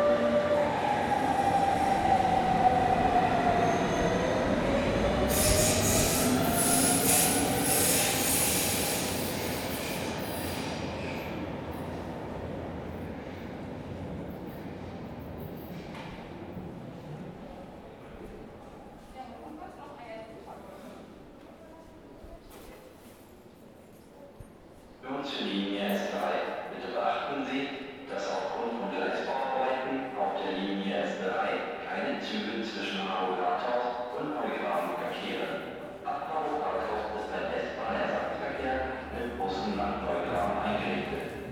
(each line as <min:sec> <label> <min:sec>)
0:00.0 trains comming and going 0:19.0
0:25.3 trains comming and going 0:41.5